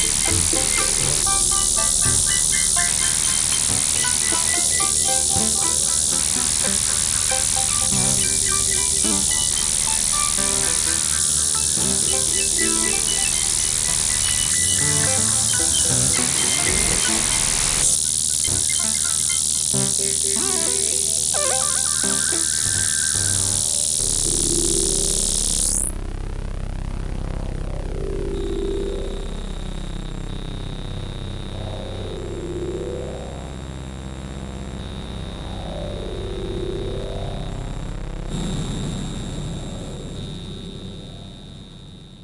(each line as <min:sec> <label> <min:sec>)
0:00.0 synth 0:26.0